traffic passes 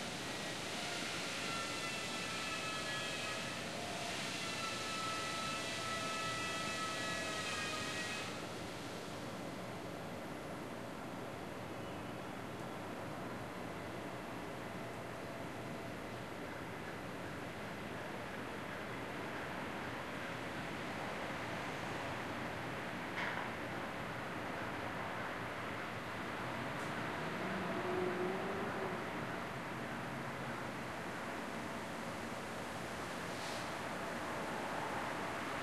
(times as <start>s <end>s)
24.6s 35.6s